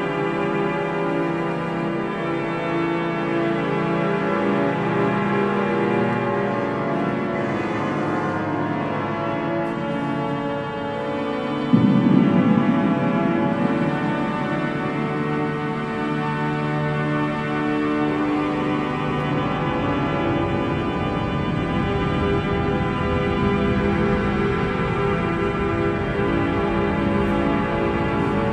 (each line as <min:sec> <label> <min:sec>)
0:00.0 Organ during a mass 0:28.5